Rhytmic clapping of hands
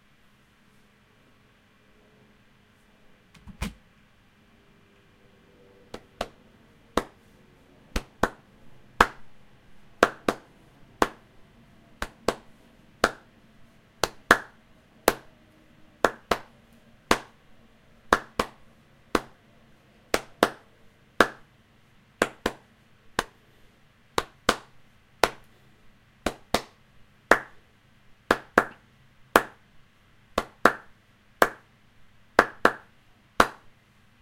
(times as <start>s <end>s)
5.9s 7.3s, 7.9s 9.3s, 10.0s 11.3s, 12.0s 13.3s, 14.0s 15.3s, 16.0s 16.5s, 17.1s 17.4s, 18.0s 19.4s, 20.1s 21.5s, 22.2s 23.4s, 24.2s 25.5s, 26.2s 27.6s, 28.3s 29.7s, 30.4s 31.7s, 32.4s 33.7s